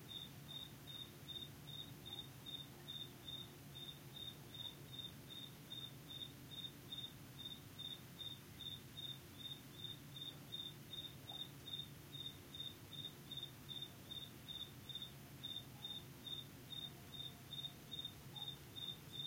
crickets 0.0 - 19.2

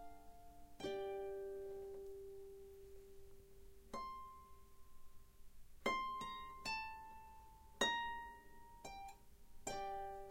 Harp 0.0 - 10.3

